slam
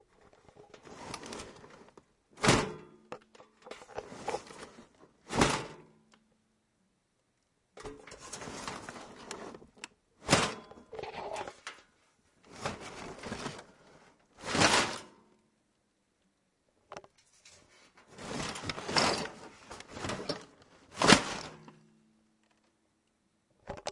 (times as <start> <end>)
2.4 2.9, 5.3 5.9, 10.2 10.7